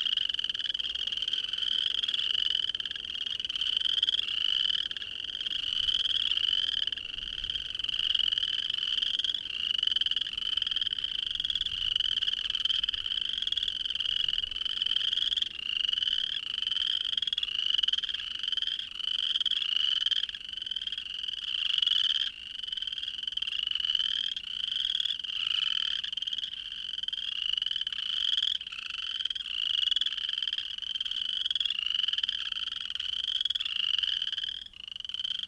loud chorus of chirping frogs 0.0 - 35.4

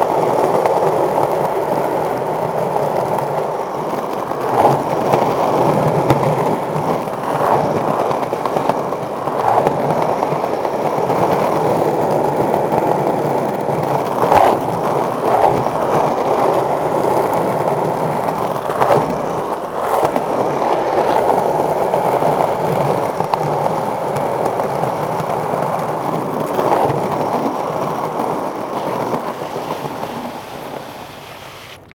Skaters 0.0 - 31.9

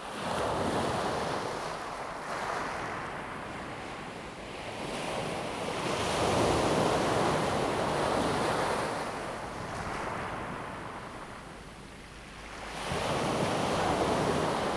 waves 5.9 - 14.7

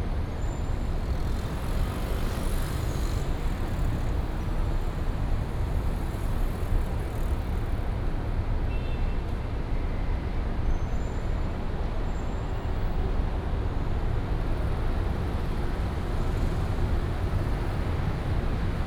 traffic sound 0.0 - 7.9
traffic sound 11.5 - 18.8

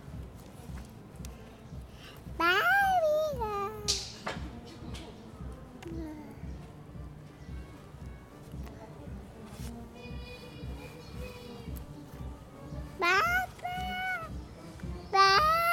Лепет ребенка 0.0 - 15.7

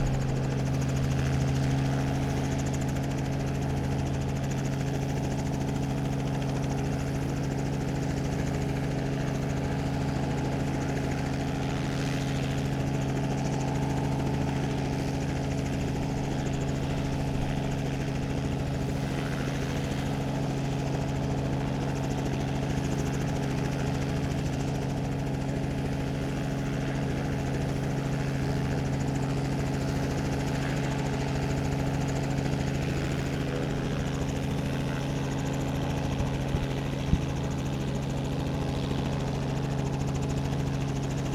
Helicopter preparing for takeoff and then taking off 0.0 - 41.3

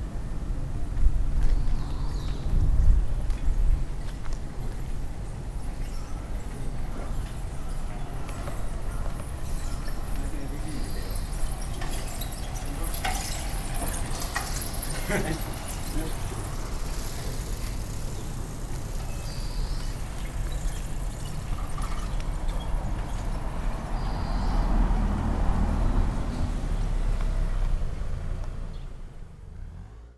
bicycle riders passing by 0.1 - 30.1
a car 4.4 - 30.1
two birds chirping on a power wire 16.9 - 22.9

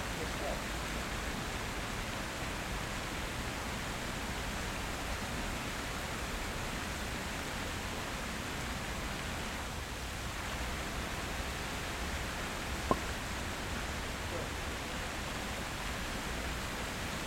fountain 0.0 - 17.2

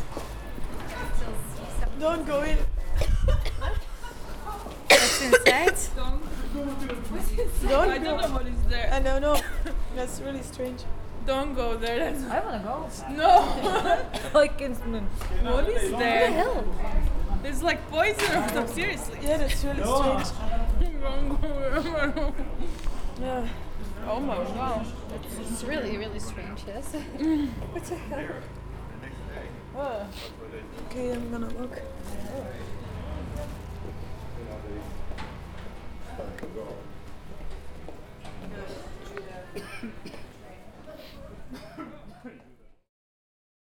Coughing Tourists 2.8 - 6.4
Coughing Tourists 9.2 - 9.9
Coughing Tourists 13.1 - 16.7
Coughing Tourists 18.0 - 20.8
Coughing Tourists 21.6 - 31.0
Coughing Tourists 37.6 - 42.5

